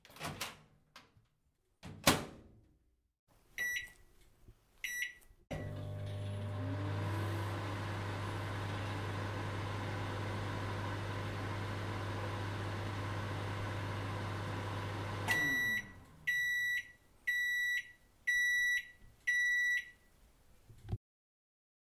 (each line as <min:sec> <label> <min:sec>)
0:05.5 Microwave 0:16.7